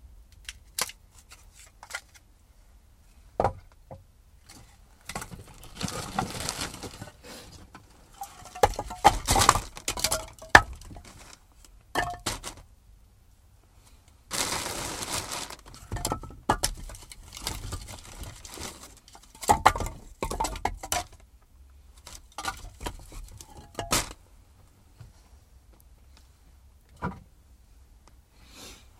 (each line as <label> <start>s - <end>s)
Falling logs 4.5s - 12.7s
Falling logs 14.3s - 21.2s